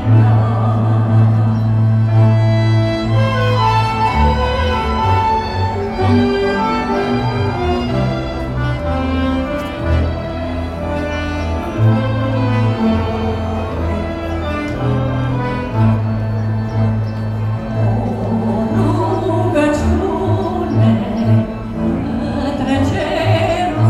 0.0s traditional folklore band playing 23.8s

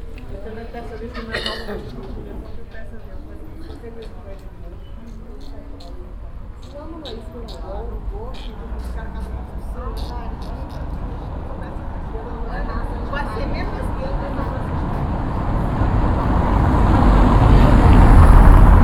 0.0s cars drive through the narrow road 18.8s
0.1s night talk 16.1s

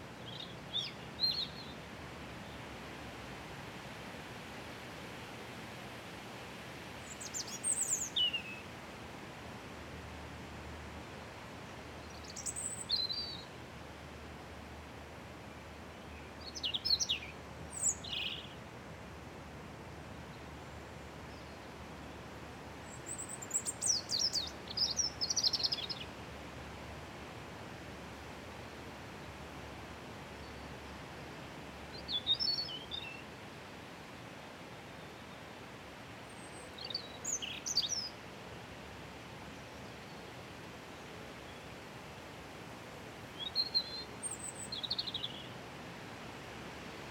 0.0s Wind in Trees 47.1s
0.2s Robin Singing 1.8s
7.1s Robin Singing 8.6s
12.0s Robin Singing 13.5s
16.4s Robin Singing 18.6s
22.8s Robin Singing 26.1s
31.9s Robin Singing 33.2s
36.4s Robin Singing 38.2s
43.4s Robin Singing 45.5s

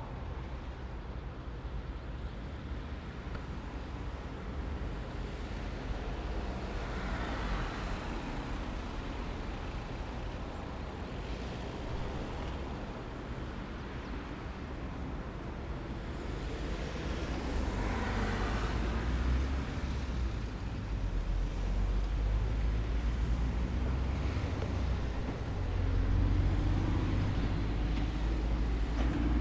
0.0s early traffic 29.4s

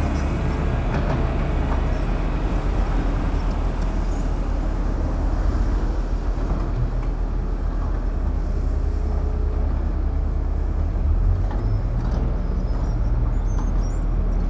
0.0s Construction site 14.4s

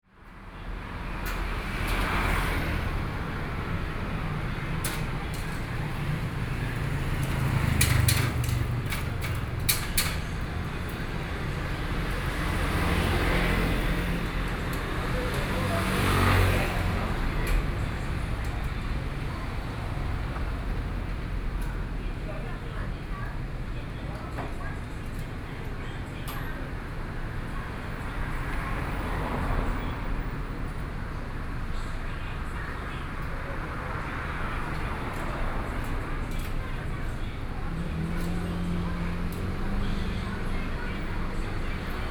0.1s Fried chicken shop 42.1s
0.1s Traffic Sound 42.1s

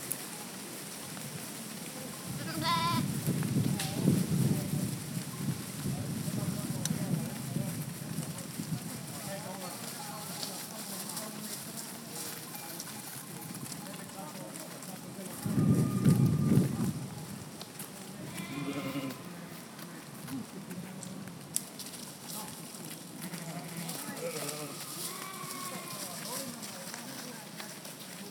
0.0s Flock of sheep approaching and passes by me 28.3s

